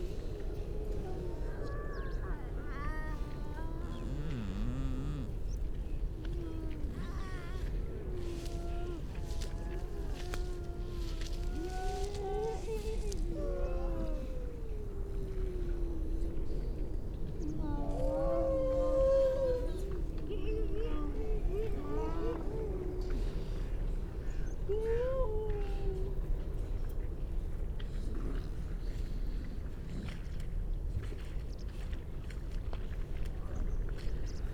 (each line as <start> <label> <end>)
0.0 grey seals 34.5